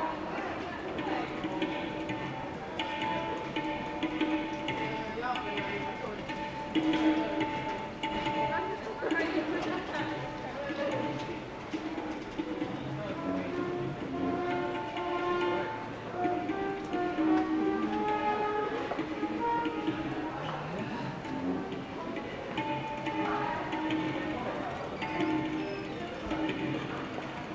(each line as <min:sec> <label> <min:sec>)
0:00.0 group of Italian tourists with their suitcases arrive 0:27.5
0:00.0 music is played 0:27.5